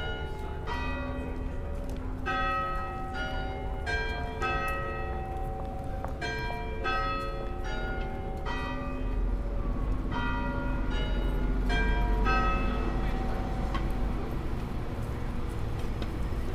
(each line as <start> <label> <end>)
0.0 people walking 16.5
7.5 buses and taxis 16.5